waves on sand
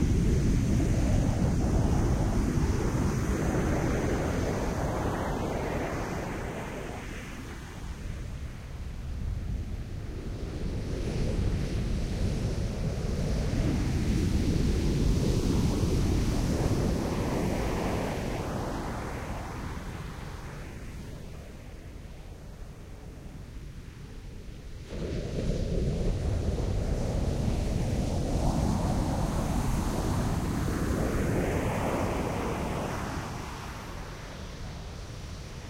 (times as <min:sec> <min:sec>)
0:24.2 0:35.6